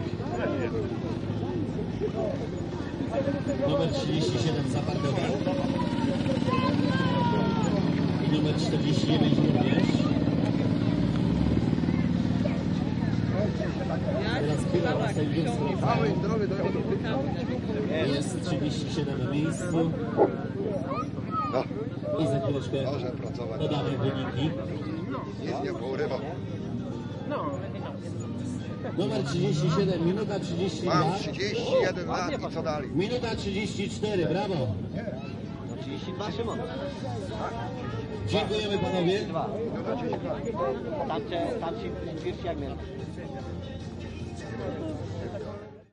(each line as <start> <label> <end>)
0.0 tractor race 45.9